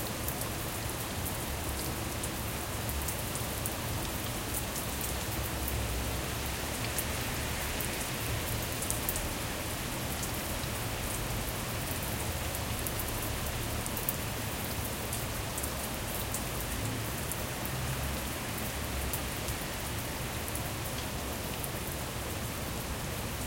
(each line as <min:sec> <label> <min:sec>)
0:00.0 rain 0:23.4